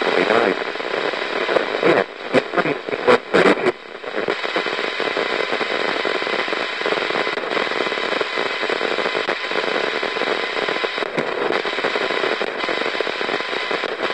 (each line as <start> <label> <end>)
0.0 radio static 14.1